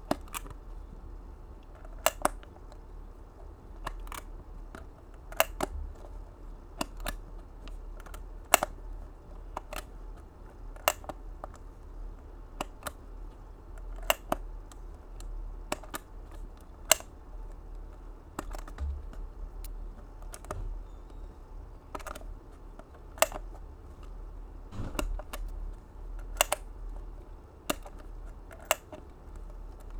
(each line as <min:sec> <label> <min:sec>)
0:22.9 jewelry box unlatching and latching 0:26.7
0:27.7 jewelry box unlatching and latching 0:29.9